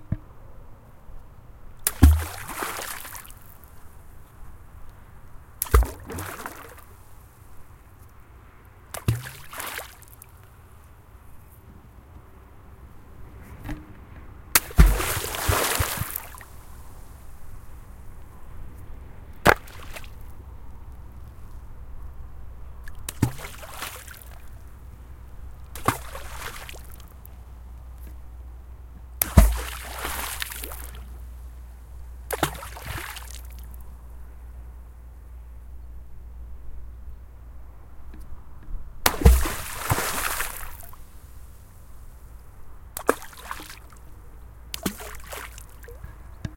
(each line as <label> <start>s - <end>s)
stone in the water 1.8s - 3.7s
waves 1.9s - 3.8s
stone in the water 5.6s - 6.9s
waves 5.6s - 7.6s
waves 8.9s - 10.5s
stone in the water 8.9s - 10.2s
stone in the water 14.6s - 16.6s
waves 14.6s - 18.0s
stone in the water 19.4s - 20.2s
waves 19.5s - 20.4s
waves 22.8s - 27.4s
stone in the water 22.9s - 24.6s
stone in the water 25.7s - 27.2s
stone in the water 29.2s - 31.2s
waves 29.2s - 31.6s
stone in the water 32.3s - 33.8s
waves 32.3s - 33.8s
stone in the water 39.1s - 41.0s
waves 39.1s - 42.2s
waves 42.9s - 46.4s
stone in the water 43.0s - 44.0s
stone in the water 44.8s - 46.0s